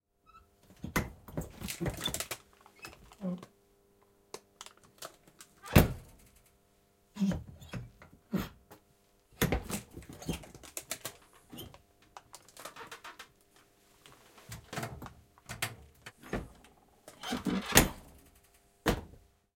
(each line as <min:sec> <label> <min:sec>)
0:00.7 Opening and closing an old soviet refridgerator 0:03.2
0:04.9 Opening and closing an old soviet refridgerator 0:06.4
0:07.2 Opening and closing an old soviet refridgerator 0:08.5
0:09.4 Opening and closing an old soviet refridgerator 0:13.3
0:14.5 Opening and closing an old soviet refridgerator 0:19.1